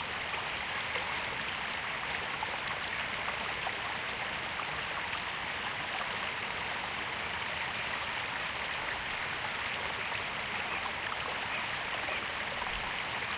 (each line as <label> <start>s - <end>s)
Stream 0.0s - 13.3s